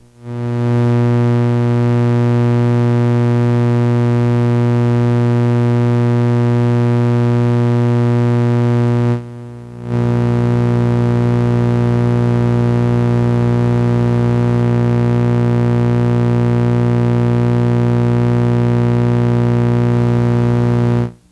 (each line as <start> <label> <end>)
0.0 electromagnetic interference 21.3